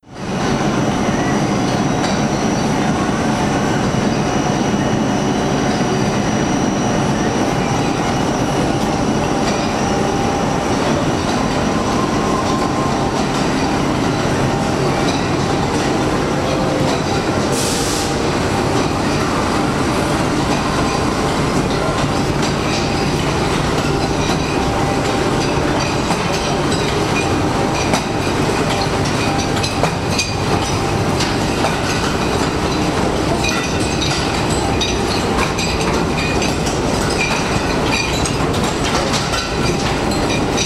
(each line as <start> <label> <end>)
0.0 noises within the brick factory 40.6